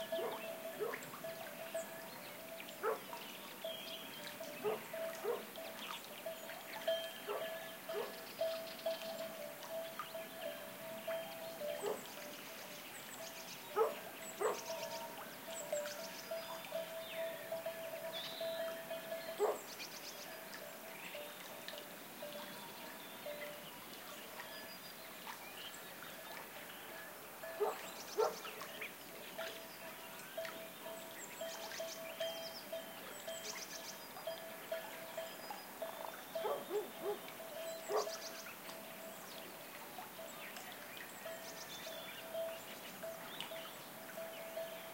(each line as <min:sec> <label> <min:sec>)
0:00.0 sheepbells 0:12.4
0:00.0 birds singing 0:44.9
0:00.1 dogs barking 0:01.0
0:02.8 dogs barking 0:03.1
0:04.6 dogs barking 0:05.5
0:07.2 dogs barking 0:08.2
0:11.8 dogs barking 0:12.0
0:13.7 dogs barking 0:14.7
0:13.7 sheepbells 0:19.6
0:19.4 dogs barking 0:19.6
0:27.6 dogs barking 0:28.4
0:30.2 sheepbells 0:38.3
0:36.4 dogs barking 0:37.2
0:37.8 dogs barking 0:38.2